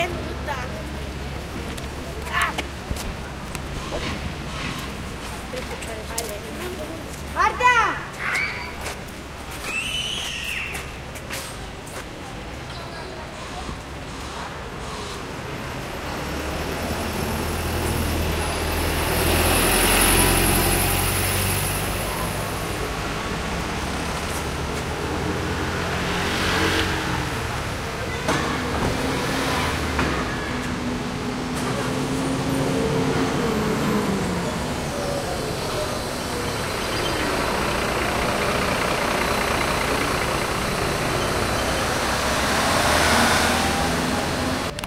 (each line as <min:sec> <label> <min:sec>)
0:00.0 Traffic 0:44.8